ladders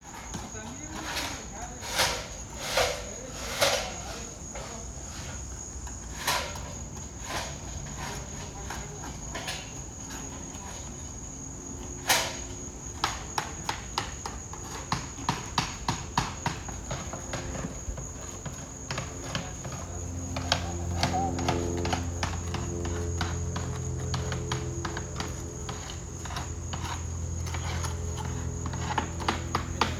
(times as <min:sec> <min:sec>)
0:01.0 0:04.8